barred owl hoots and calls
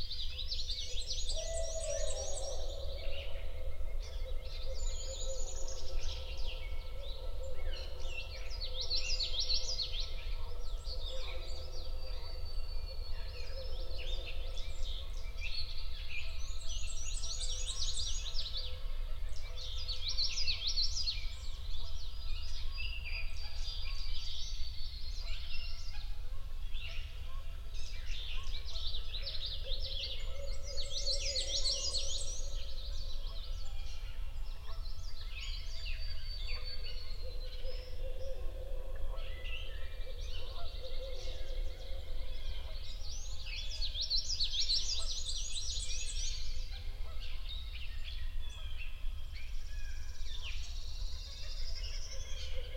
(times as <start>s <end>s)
1.3s 8.0s